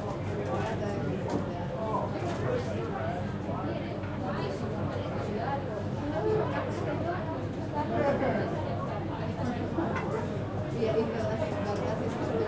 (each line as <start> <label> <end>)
0.0 crowd 12.4